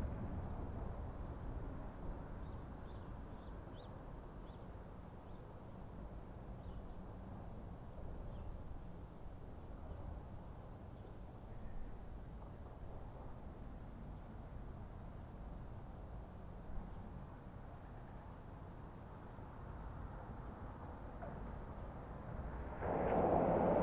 Vehicles pass overhead 17.0 - 23.8

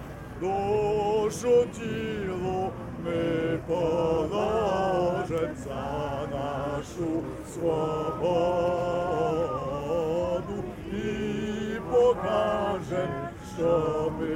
songs 0.0 - 14.3

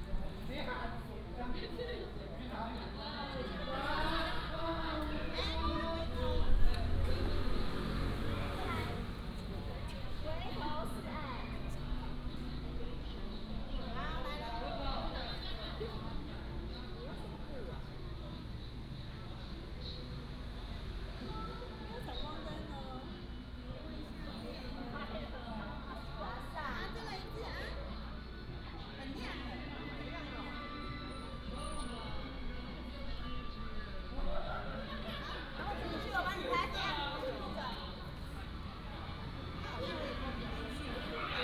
Traffic Sound 4.5 - 13.7
Traffic Sound 34.8 - 41.4

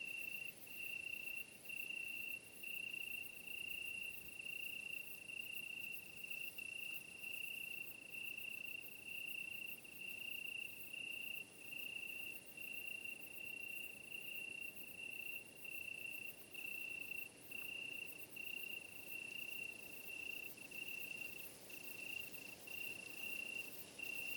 crickets 0.0 - 24.3

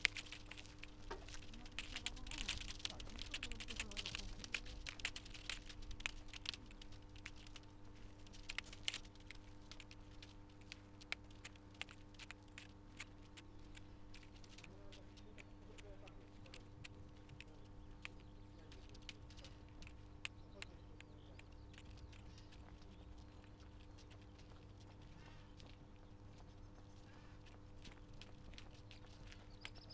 voices of the sunday strollers 0.0 - 5.4
voices of the sunday strollers 13.7 - 29.9

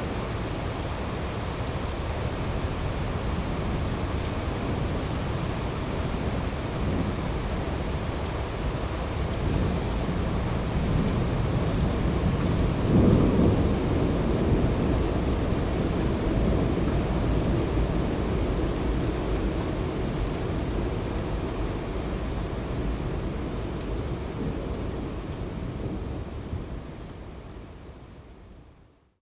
Heavy rain 0.0 - 29.1
distant thunderstorm 9.4 - 20.3

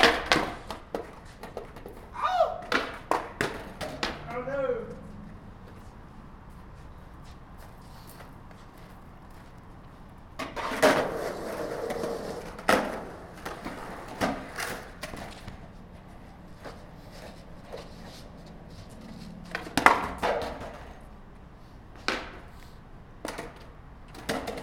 skating 0.0 - 24.6

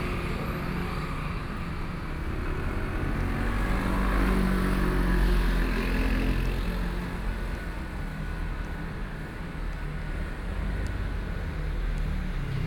Walking in the street 0.0 - 12.6
Traffic Sound 6.5 - 12.6

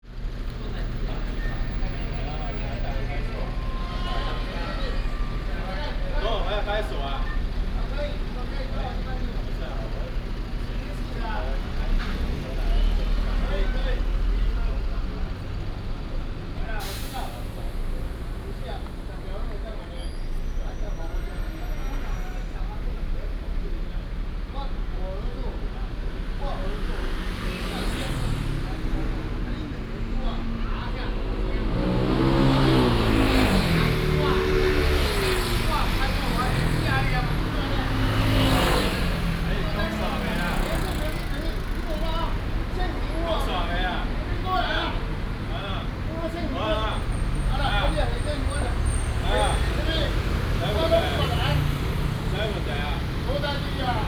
Traffic 0.0 - 54.0

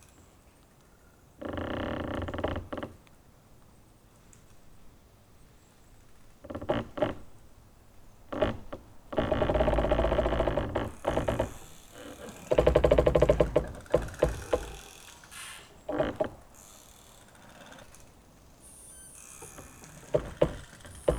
pine-trees rubbing against each other 13.9 - 16.0

